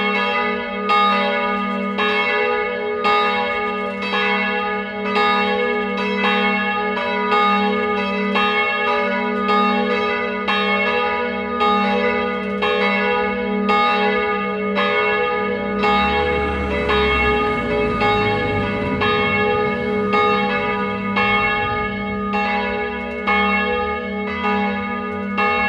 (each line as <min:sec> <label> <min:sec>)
0:00.0 church bells 0:25.6
0:00.0 swinging of the bell in the bell tower 0:25.6
0:15.4 traffic sound of cars passing by 0:24.2